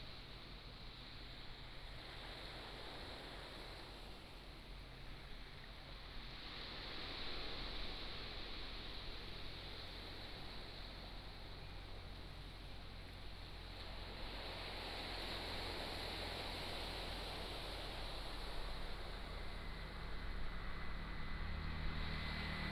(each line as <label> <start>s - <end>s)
waves 0.0s - 22.7s
Traffic Sound 11.4s - 22.7s